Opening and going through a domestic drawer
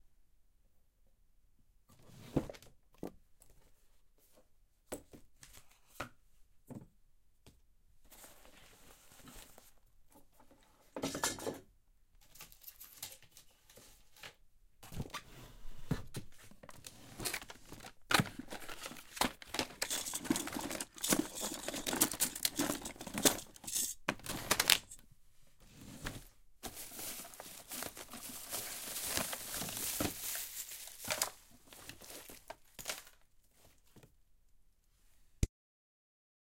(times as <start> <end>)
14.8 25.0